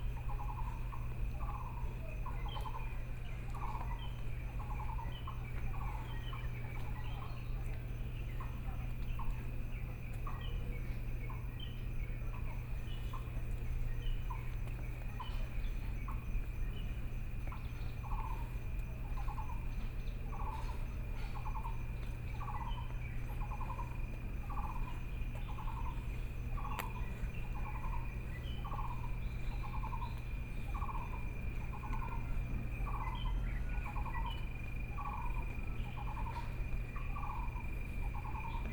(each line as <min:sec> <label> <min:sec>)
0:00.0 Birdsong 0:38.7
0:00.0 Frogs sound 0:38.7
0:00.0 Insects sound 0:38.7